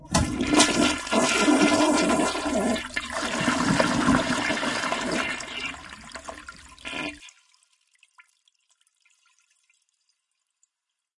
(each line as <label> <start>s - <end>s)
flush 0.0s - 7.9s